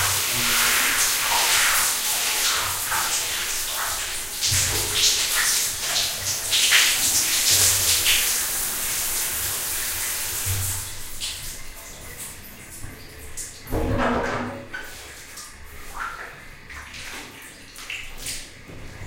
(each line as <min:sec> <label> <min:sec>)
0:00.0 splash 0:08.2
0:13.7 splash 0:18.6